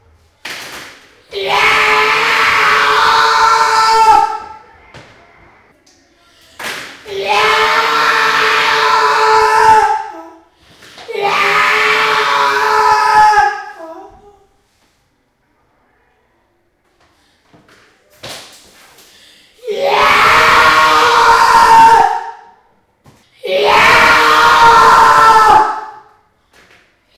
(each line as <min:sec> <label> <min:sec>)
0:01.3 terrifying scream 0:04.7
0:07.0 terrifying scream 0:10.3
0:11.1 terrifying scream 0:14.0
0:19.6 terrifying scream 0:22.6
0:23.4 terrifying scream 0:26.2